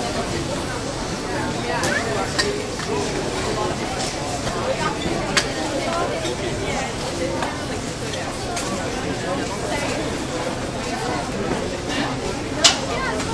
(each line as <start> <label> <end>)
0.0 busy crowd 13.3